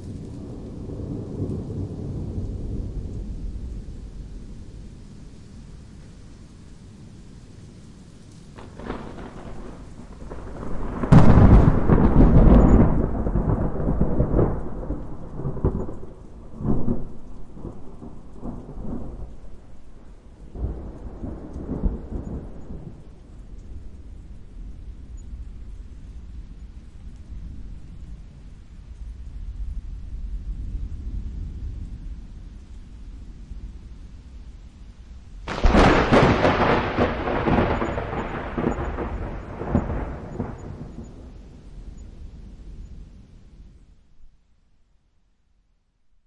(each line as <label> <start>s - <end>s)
rain 0.0s - 46.2s
Thunderclap 8.5s - 24.8s
Thunderclap 35.3s - 43.8s